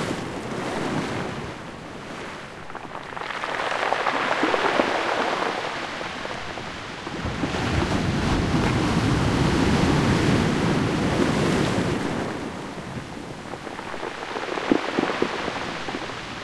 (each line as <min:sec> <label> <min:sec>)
0:00.0 waves breaking on a pebble beach 0:16.4